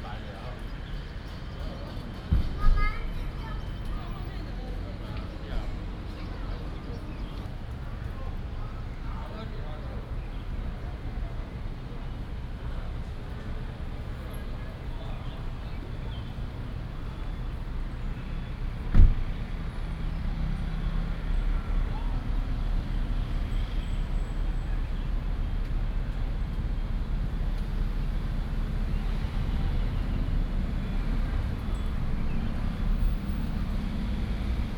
0.0s Traffic Sound 34.7s

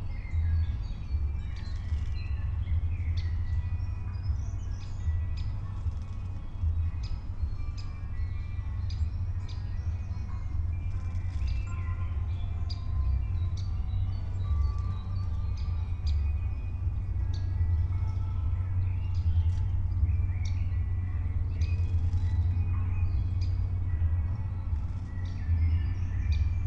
0.0s pond ambience 26.6s

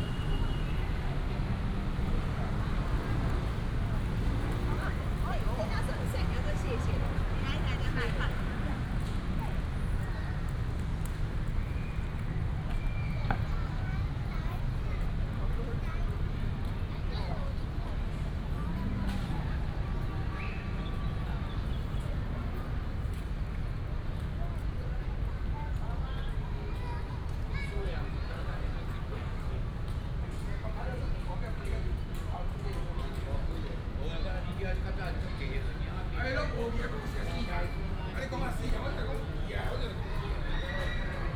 0.0s traffic sound 41.3s
26.4s Child 28.3s

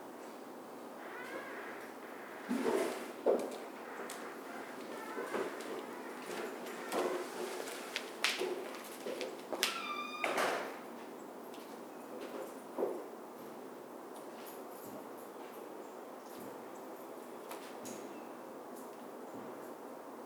1.0s people walking past the recorder 10.3s

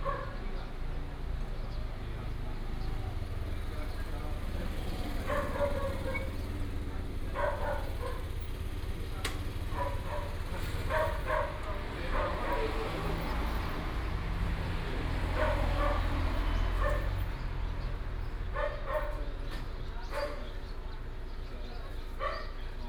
0.0s Dog barking 0.4s
0.0s traffic sound 22.8s
0.0s Birds sound 22.8s
5.1s Dog barking 6.6s
7.2s Dog barking 8.4s
9.6s Dog barking 13.8s
15.0s Dog barking 17.4s
18.5s Dog barking 19.4s
20.0s Dog barking 20.7s
22.1s Dog barking 22.7s

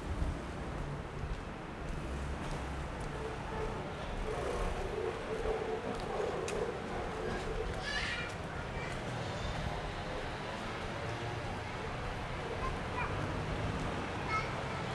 0.0s Walking in a small alley 14.9s

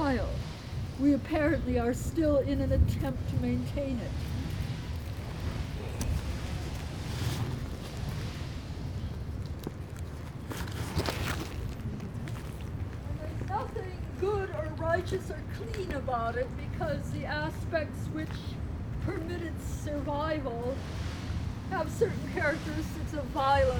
0.0s lunatic woman 4.4s
13.0s lunatic woman 20.8s
21.7s lunatic woman 23.7s

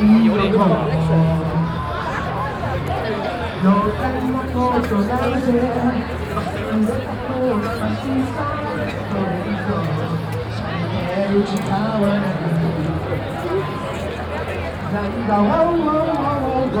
0.0s public karaoke stage 16.8s
0.0s visitors and manga fans talking and passing by 16.8s

